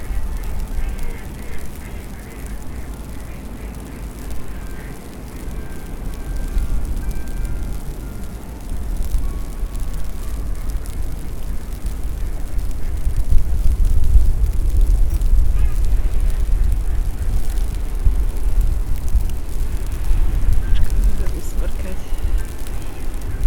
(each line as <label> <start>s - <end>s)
Sparkling snowflakes 0.0s - 23.4s
waterfowl 0.0s - 5.0s
bells 4.1s - 12.2s